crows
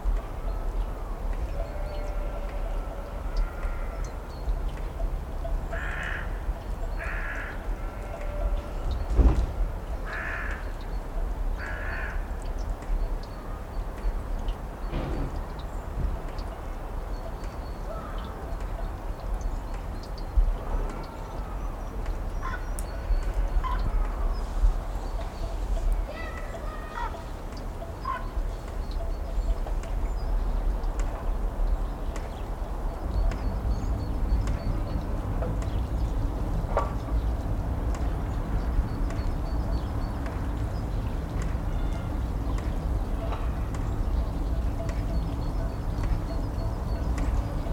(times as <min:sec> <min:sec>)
0:05.7 0:06.4, 0:07.0 0:08.6, 0:10.1 0:10.7, 0:11.6 0:12.3, 0:17.9 0:18.3, 0:22.4 0:22.7